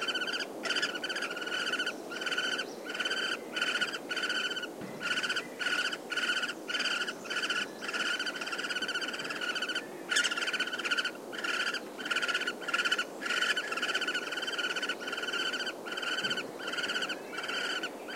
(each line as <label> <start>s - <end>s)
screeching from nestlings of Great Spotted Woodpecker 0.0s - 17.9s